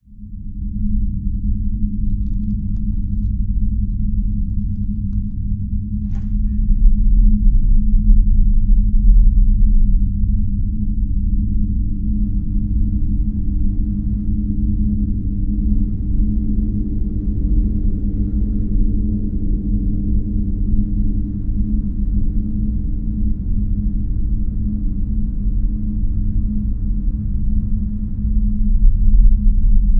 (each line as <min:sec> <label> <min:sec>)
0:12.0 low-frequency drones 0:29.9
0:12.0 distant mechanical hums 0:28.4